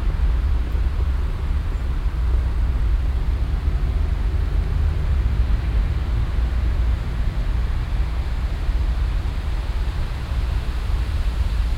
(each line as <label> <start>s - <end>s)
Windböe in den Bäumen 0.0s - 11.7s